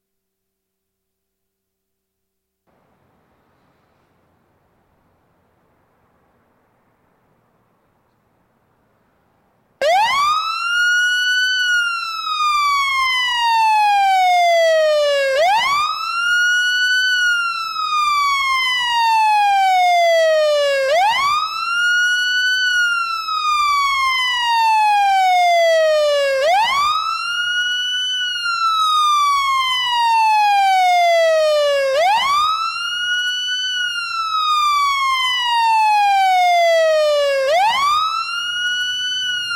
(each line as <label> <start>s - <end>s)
Fire Engine 9.8s - 39.5s
fire siren 9.8s - 39.5s